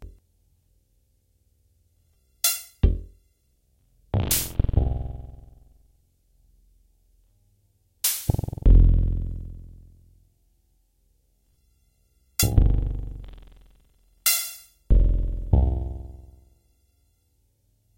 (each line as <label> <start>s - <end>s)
Complex Synthesizer 4.2s - 5.8s
Complex Synthesizer 8.3s - 9.7s
Complex Synthesizer 12.4s - 13.9s